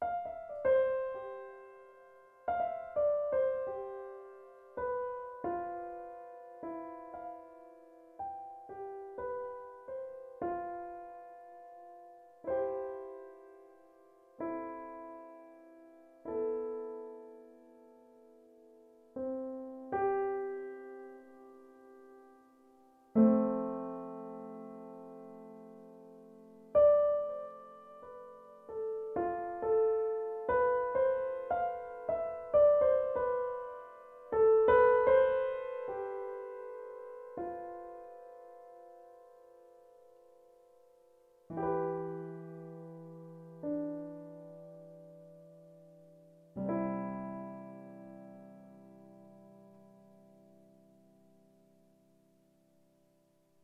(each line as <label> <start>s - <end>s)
Melodic piano 0.0s - 53.6s